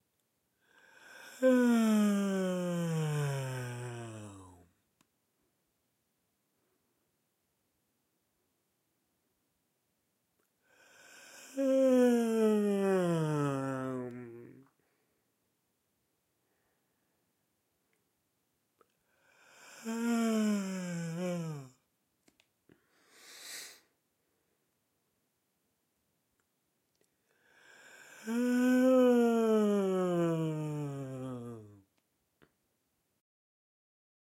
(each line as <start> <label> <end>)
1.2 Male yawning 4.6
11.4 Male yawning 14.7
19.8 Male yawning 21.8
28.2 Male yawning 31.8